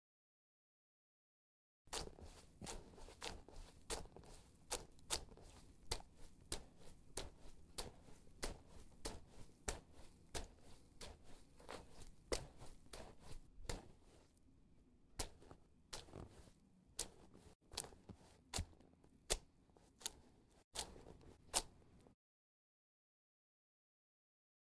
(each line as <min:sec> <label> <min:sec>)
0:02.0 footsteps in mud 0:14.1
0:15.2 footsteps in mud 0:22.1